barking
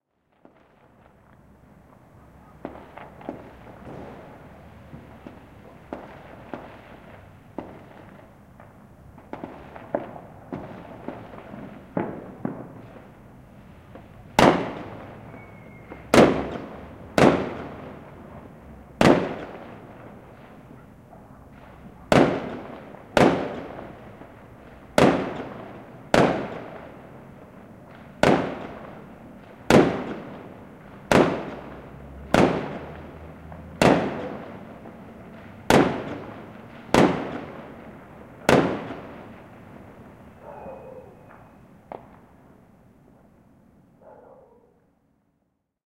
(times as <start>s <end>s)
40.4s 41.2s, 44.0s 44.8s